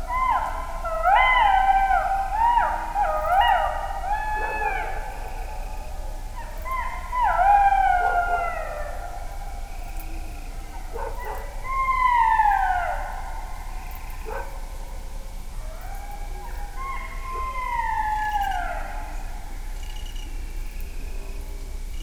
jackal howling 6.4 - 14.5
jackal howling 15.7 - 19.3

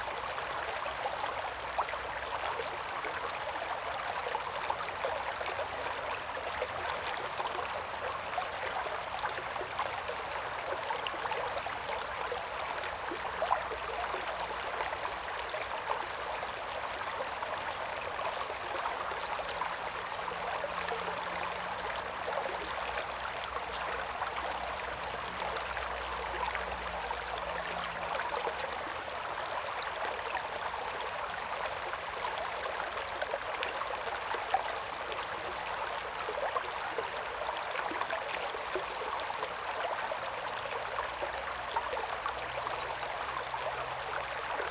Stream 0.0 - 44.7

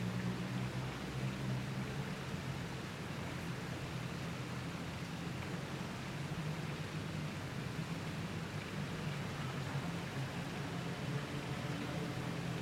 water fountains 0.0 - 12.6

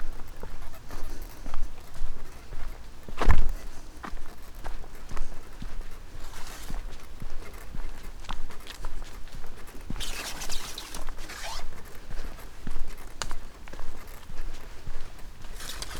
squeaking umbrella 9.9 - 12.0
squeaking umbrella 15.6 - 15.9

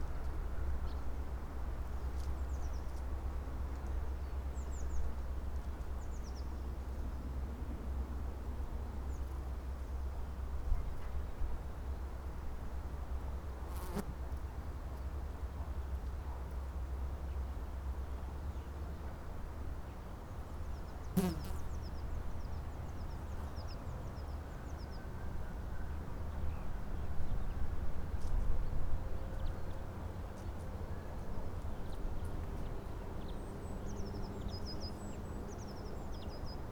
birds chirping here and there 21.1 - 21.9

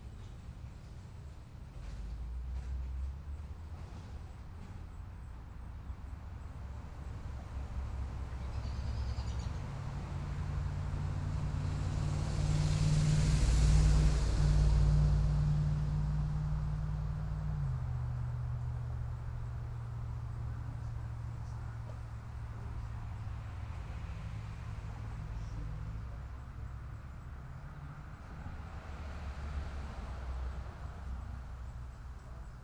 traffic 0.0 - 32.6
airplane 10.8 - 17.1

